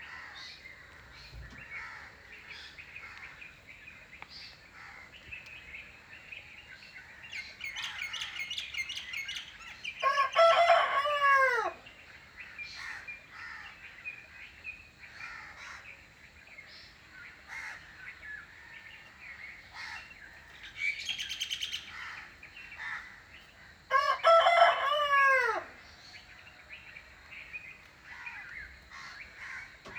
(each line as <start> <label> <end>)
0.0 crow 3.4
0.0 other birds 29.9
4.7 crow 5.2
10.0 rooster 11.8
12.4 crow 14.0
15.1 crow 16.0
17.3 crow 26.4
23.9 rooster 26.4
28.0 crow 29.9